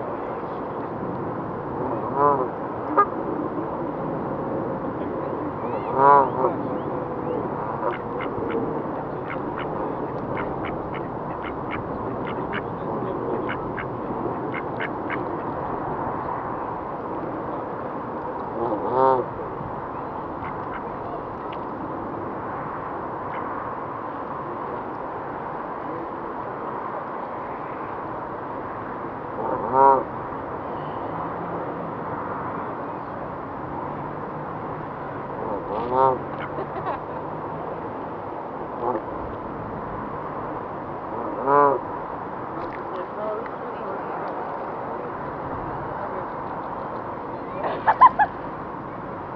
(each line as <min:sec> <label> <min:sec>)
0:05.6 swans 0:08.6
0:07.2 ducks swimming 0:15.6
0:35.4 swans 0:36.8
0:35.4 ducks swimming 0:37.0